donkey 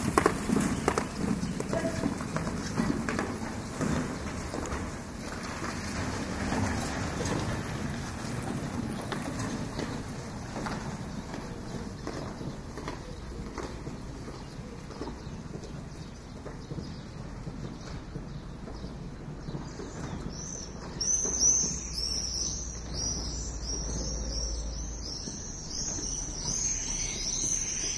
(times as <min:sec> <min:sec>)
0:00.2 0:04.2